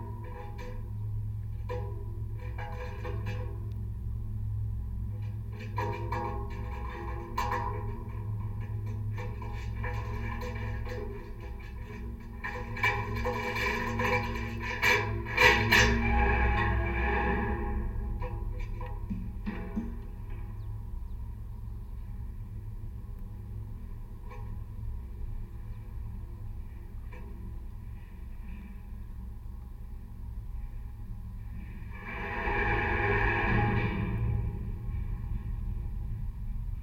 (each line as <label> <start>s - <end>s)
lightning rod of abandoned watertower 0.0s - 36.8s